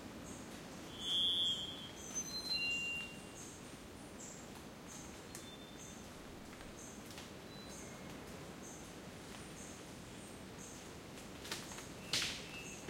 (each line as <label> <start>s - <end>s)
wind 0.0s - 12.8s
rain 3.6s - 12.8s
birds 11.6s - 12.8s